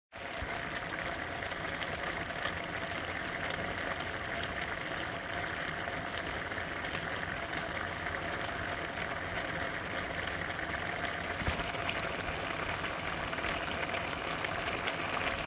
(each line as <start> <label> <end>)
0.1 tomato sauce bubbling aggressively 15.4